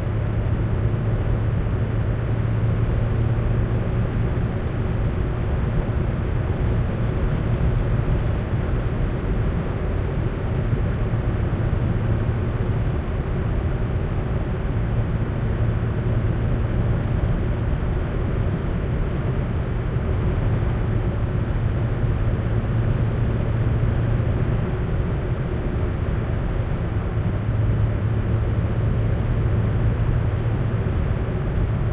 driving on asphalt 0.0 - 31.9

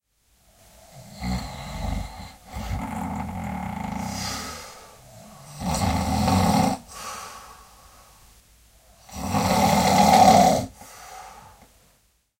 men snoring 0.8 - 7.4
men snoring 9.0 - 11.0

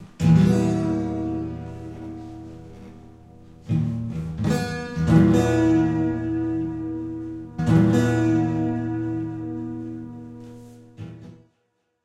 bending a guitar out of tune 0.0 - 11.4

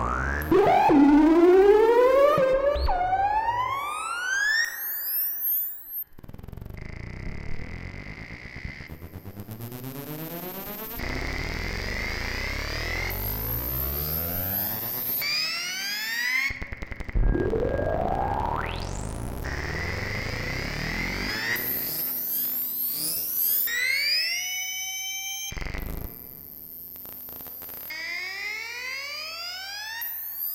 drone 0.0 - 24.6

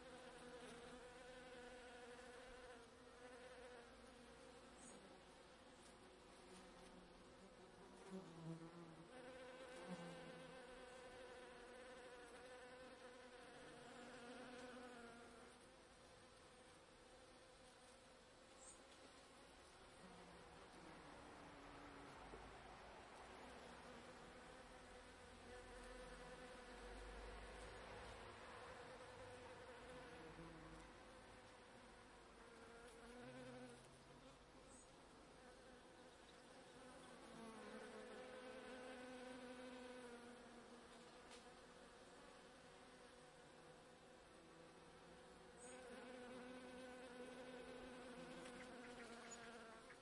bumble bee fly-past 0.0 - 5.2
Bees in a bush 0.0 - 50.0
bumble bee fly-past 5.8 - 15.7
bumble bee fly-past 23.2 - 31.8
bumble bee fly-past 32.4 - 50.0
other insects 45.5 - 50.0

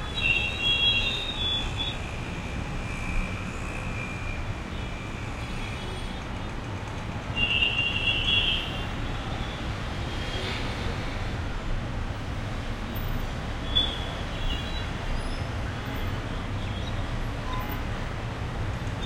traffic 0.0 - 19.0

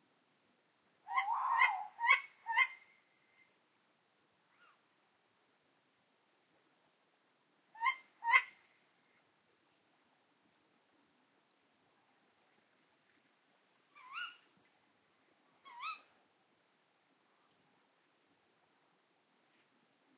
male and female Tawny owls 1.1 - 2.8
male and female Tawny owls 14.0 - 14.5
male and female Tawny owls 15.6 - 16.1

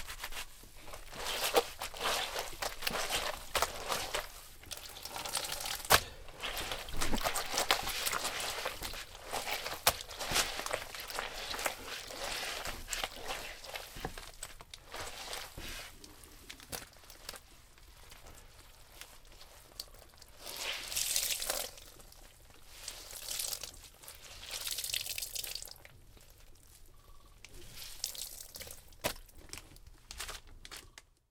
washing cloths by my hands 0.0 - 30.1

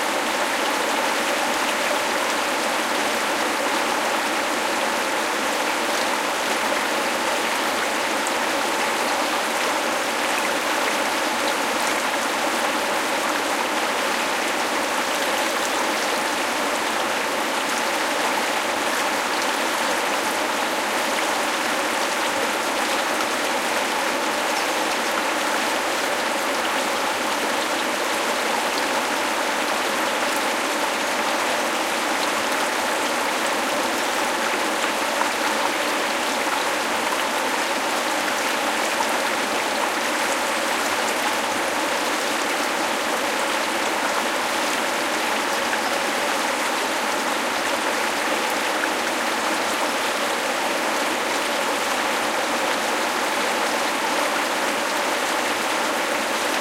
small river 0.0 - 56.6

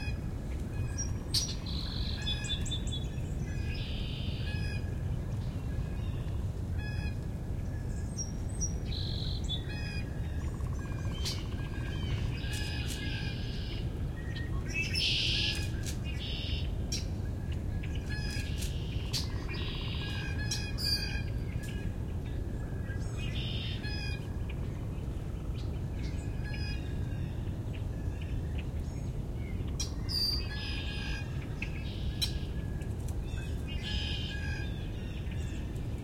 Song Sparrow 0.0 - 32.6
Northern Cardinal 0.0 - 36.0
wind rustling through the trees 0.0 - 36.0
Red-winged Blackbird 17.8 - 32.6
Song Sparrow 33.2 - 35.8

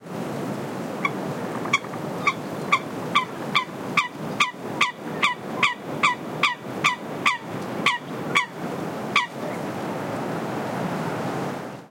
Single Coot calling 1.7 - 8.5

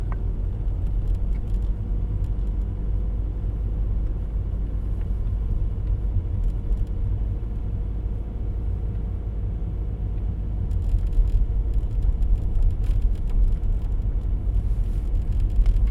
Slow driving of a diesel engine car 0.0 - 15.9

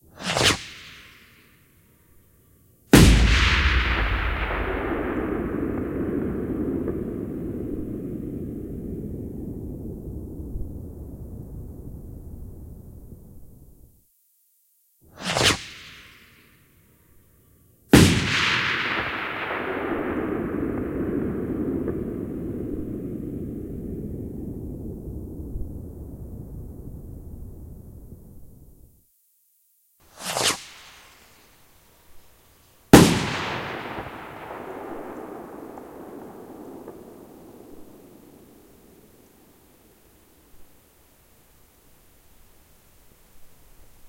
hiss 0.0 - 1.7
rocket launch 3.0 - 10.1
explosion 3.0 - 10.6
hiss 15.1 - 16.8
explosion 18.0 - 25.7
rocket launch 18.0 - 25.7
hiss 30.0 - 34.4
rocket launch 32.9 - 39.5
explosion 33.0 - 39.0

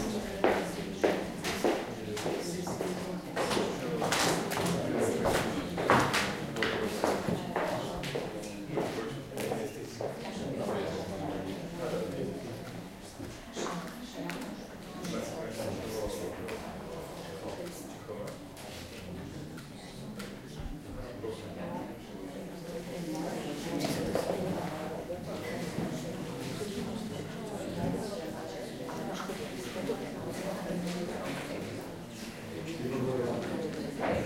talk 0.0 - 34.2

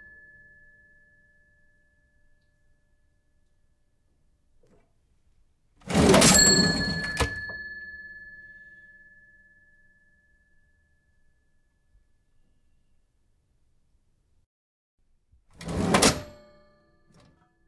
bell ring 0.0 - 2.4
cash register old antique open close drawer 5.8 - 7.8
bell ring 6.0 - 10.8
cash register old antique open close drawer 15.6 - 17.4

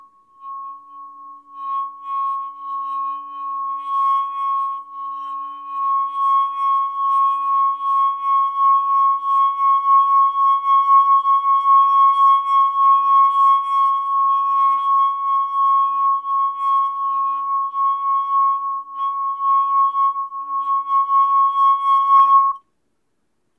Wineglass Ringing (Finger on rim) 0.0 - 22.6

